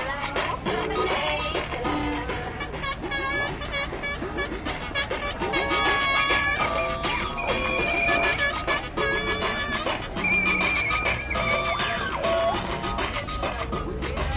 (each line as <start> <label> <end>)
0.0 Cornetas 14.3
0.0 maracas 14.3
0.0 musica bailable 14.3
0.0 pitos 14.3
0.0 zumbido de fondo 14.3